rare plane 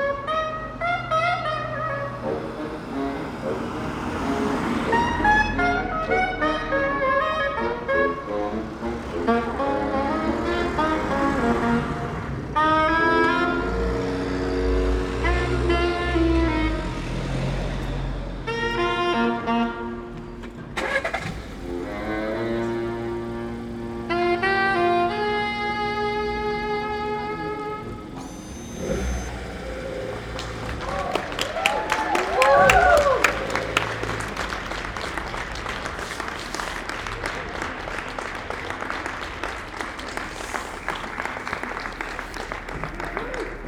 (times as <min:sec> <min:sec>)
0:00.0 0:17.0